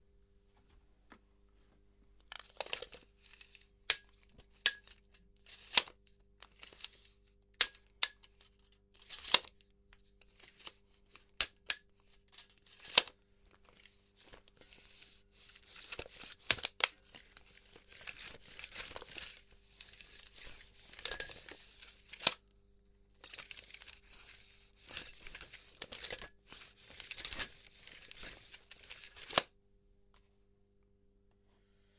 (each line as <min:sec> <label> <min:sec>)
0:02.4 Measuring tape rolling out and pulling back 0:09.6
0:02.4 measure tape snapping and shaking 0:07.0
0:07.6 measure tape snapping and shaking 0:09.5
0:10.2 Measuring tape rolling out and pulling back 0:22.4
0:10.2 measure tape snapping and shaking 0:13.1
0:15.6 measure tape snapping and shaking 0:22.4
0:23.2 Measuring tape rolling out and pulling back 0:29.5